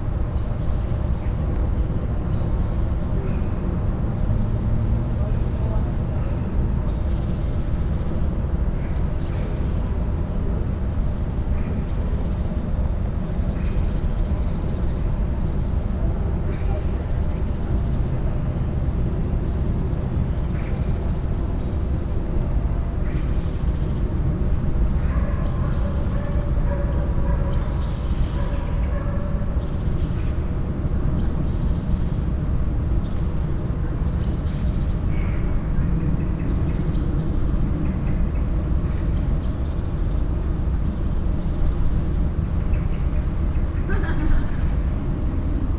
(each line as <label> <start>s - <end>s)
voices in the garden 2.3s - 6.8s
voices in the garden 13.5s - 23.5s
voices in the garden 43.6s - 45.2s